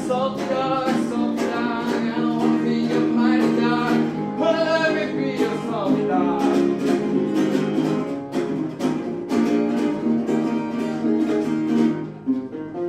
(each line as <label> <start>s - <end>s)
unknown folkie giving a concert 0.0s - 12.8s